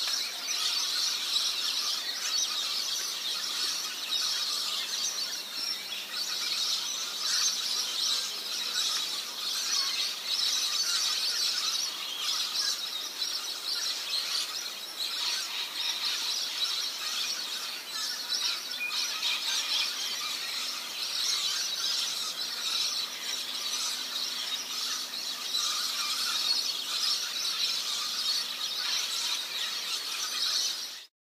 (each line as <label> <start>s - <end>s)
Birds 0.0s - 31.1s